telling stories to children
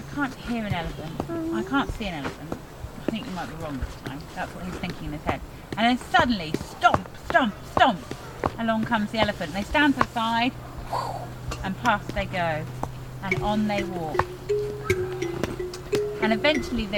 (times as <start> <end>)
0.0 8.0, 11.6 14.3, 16.1 16.9